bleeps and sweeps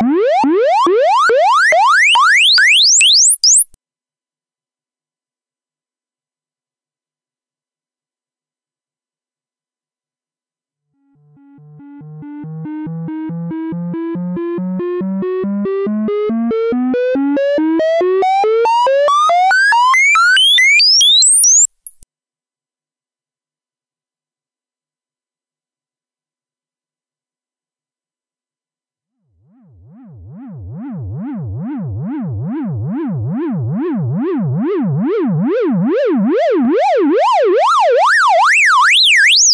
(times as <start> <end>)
0.0 3.8, 18.8 22.0